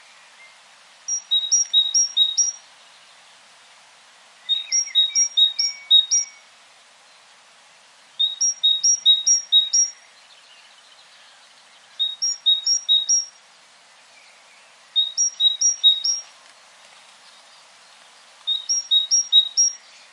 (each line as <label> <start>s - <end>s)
Great Tit twittering its song 1.1s - 2.6s
Great Tit twittering its song 4.5s - 6.4s
Great Tit twittering its song 8.2s - 11.0s
Great Tit twittering its song 11.9s - 13.4s
Great Tit twittering its song 15.0s - 16.2s
Great Tit twittering its song 18.5s - 19.9s